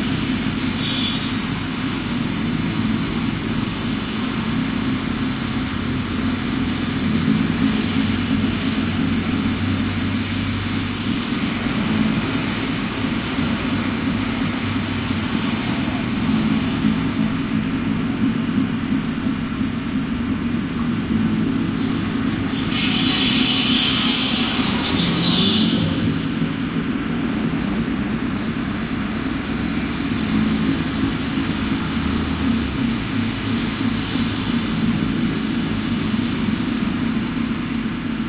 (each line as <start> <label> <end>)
0.0 traffic 38.2